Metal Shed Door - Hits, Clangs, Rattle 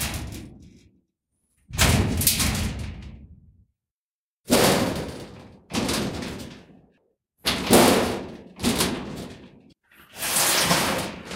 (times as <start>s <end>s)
0.0s 0.9s, 1.7s 3.6s, 4.5s 6.8s, 7.4s 9.7s